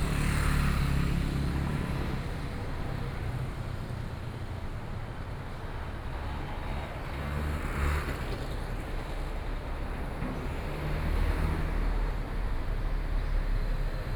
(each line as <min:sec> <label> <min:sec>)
0:00.0 Traffic Sound 0:04.3